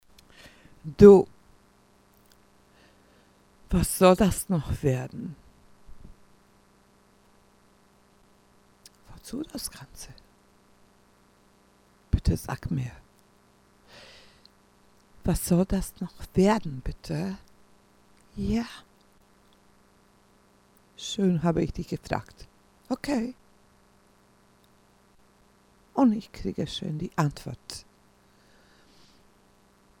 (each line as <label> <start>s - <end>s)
voice 0.9s - 1.3s
voice 3.7s - 5.4s
voice 9.1s - 10.2s
voice 12.2s - 13.0s
voice 15.3s - 17.4s
voice 18.3s - 18.9s
voice 21.0s - 23.4s
voice 26.0s - 27.8s